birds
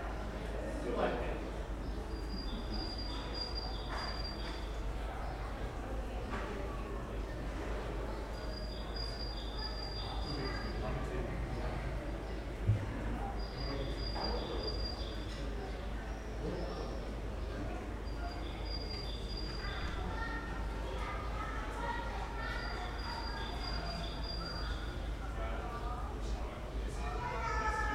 1.8 5.7, 8.2 21.1, 21.8 26.2

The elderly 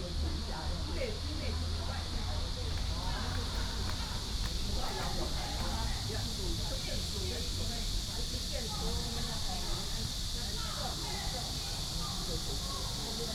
0.9 11.4

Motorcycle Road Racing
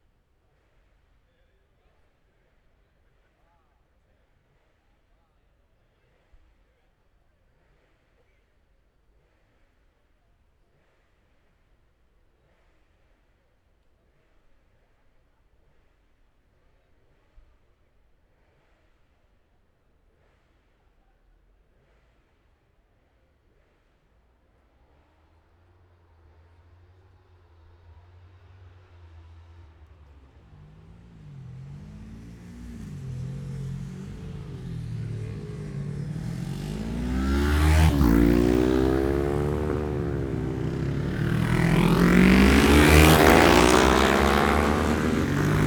25.0 45.6

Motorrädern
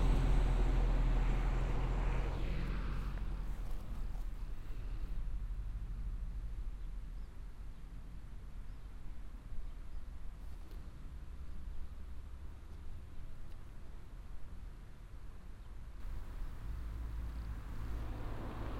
16.0 18.7

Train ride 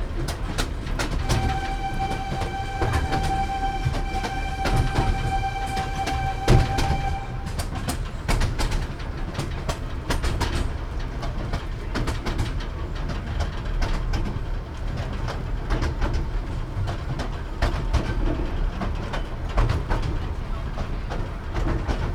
0.0 8.5

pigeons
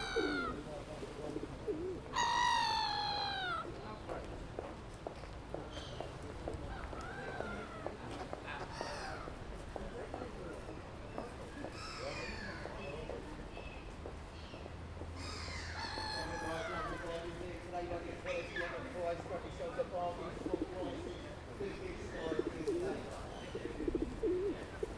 0.0 3.7, 18.2 24.9

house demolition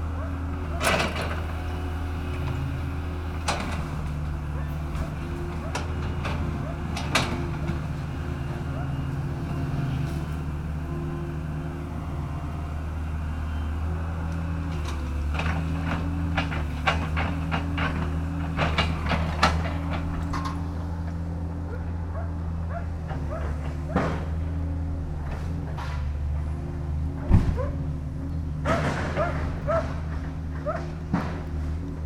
27.3 31.8

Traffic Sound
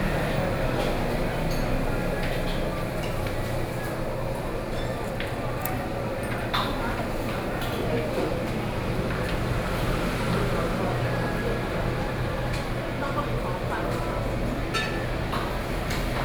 7.1 16.2

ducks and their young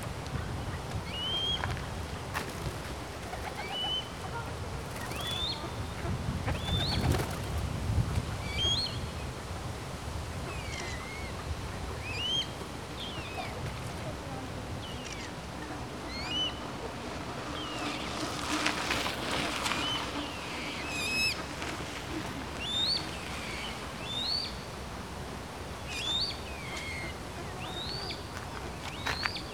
25.8 29.5

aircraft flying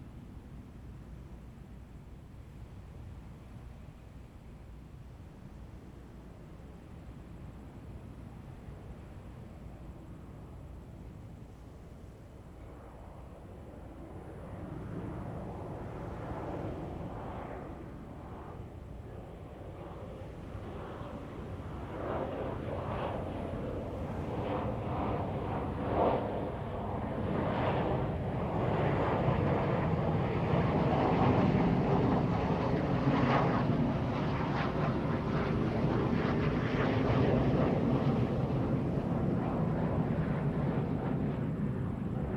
14.5 42.3

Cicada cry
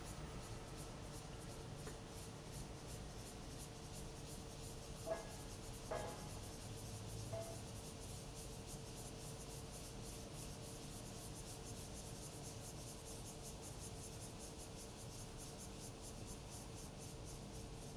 2.2 8.0

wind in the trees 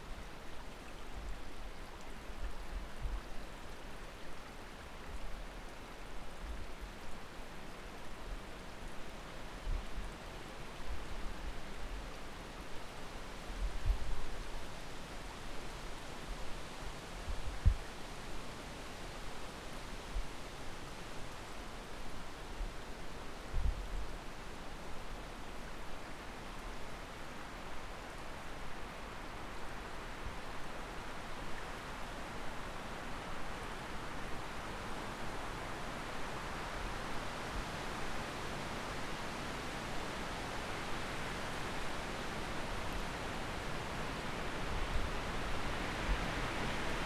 39.4 47.0

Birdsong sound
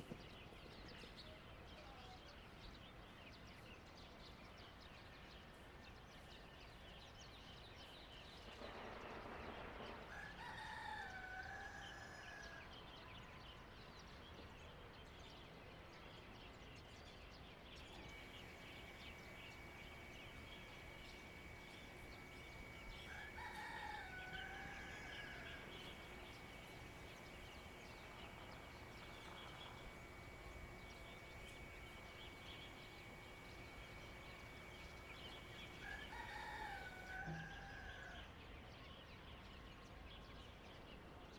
17.8 37.3

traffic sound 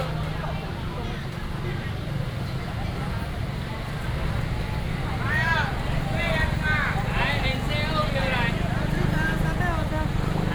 2.9 10.5

